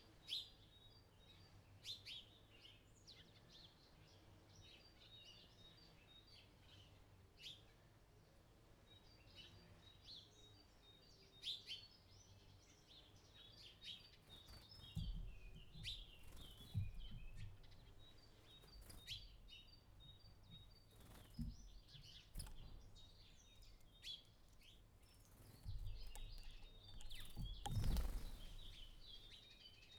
birds 0:00.0 - 0:29.9
pecking 0:14.5 - 0:29.4

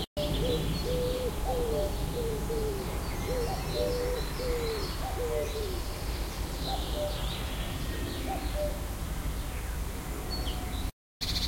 plane noise 0:00.0 - 0:10.9
other birds 0:00.0 - 0:11.4
cuckoo 0:00.2 - 0:05.9
cuckoo 0:06.6 - 0:07.2
cuckoo 0:07.9 - 0:08.9

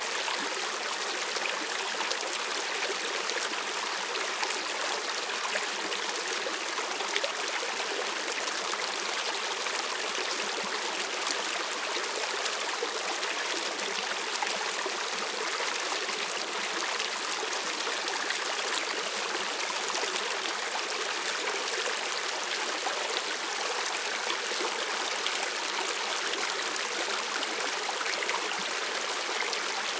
Creek 0:00.0 - 0:29.9

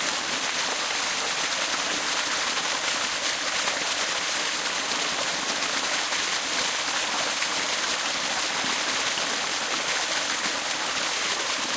waterfall 0:00.0 - 0:11.7

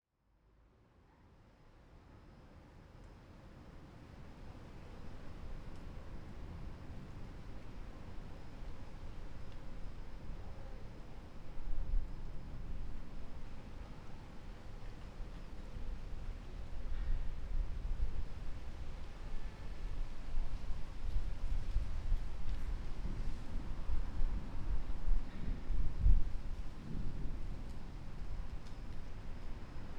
noises from the surroundings 0:01.0 - 0:29.9
thunder 0:16.6 - 0:29.9

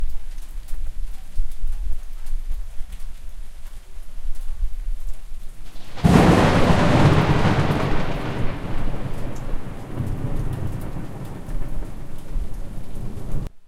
rain 0:00.0 - 0:13.6
thunder rumbling 0:05.6 - 0:13.6

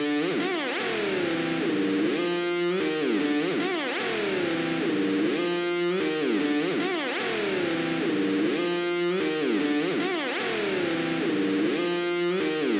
music 0:00.0 - 0:12.7

